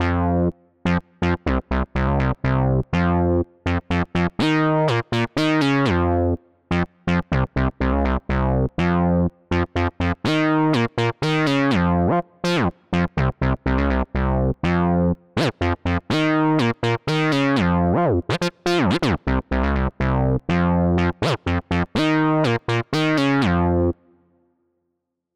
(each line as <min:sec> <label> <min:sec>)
0:00.0 Bass line 0:24.0